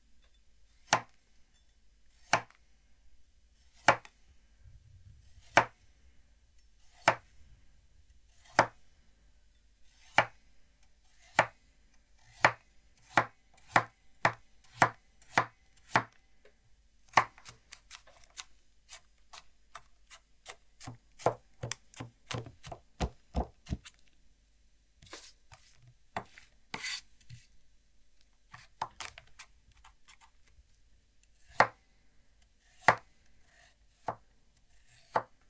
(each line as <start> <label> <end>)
2.2 kitchen knife chopping A carrot 2.6
3.8 kitchen knife chopping A carrot 4.1
5.4 kitchen knife chopping A carrot 5.8
6.9 kitchen knife chopping A carrot 7.2
8.4 kitchen knife chopping A carrot 8.8
10.0 kitchen knife chopping A carrot 10.4
11.2 kitchen knife chopping A carrot 11.6
12.2 kitchen knife chopping A carrot 16.2
17.1 kitchen knife chopping A carrot 24.0
25.0 scraping sounds 27.5
26.2 kitchen knife chopping A carrot 27.4
31.5 kitchen knife chopping A carrot 31.8
32.7 kitchen knife chopping A carrot 33.1
34.0 kitchen knife chopping A carrot 34.2
34.9 kitchen knife chopping A carrot 35.4